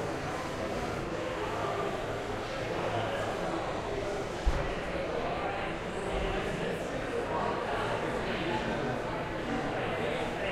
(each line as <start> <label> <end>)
0.0 people talking in the background 10.5